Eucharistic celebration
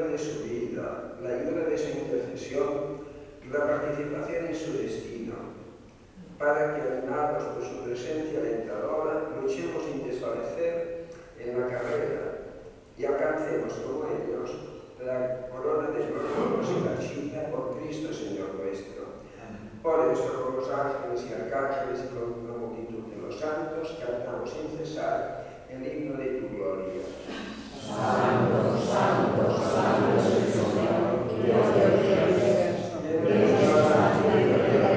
25.7 34.9

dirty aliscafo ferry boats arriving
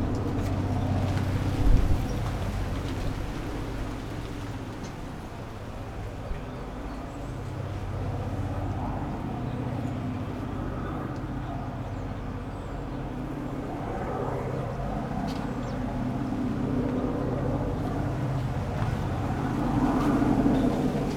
0.0 13.3

